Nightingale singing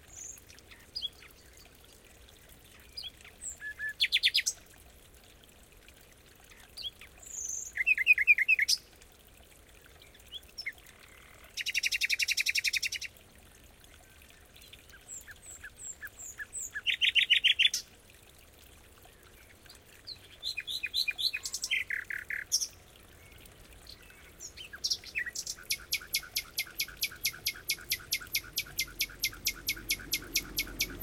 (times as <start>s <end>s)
15.1s 17.8s, 20.1s 31.0s